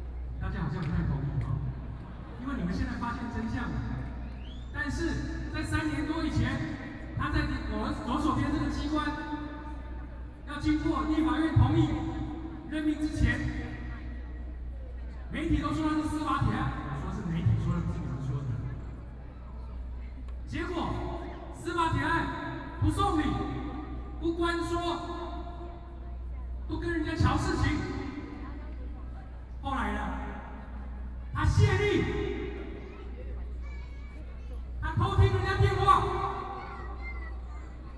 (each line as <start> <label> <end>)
0.0 Protest Speech 37.9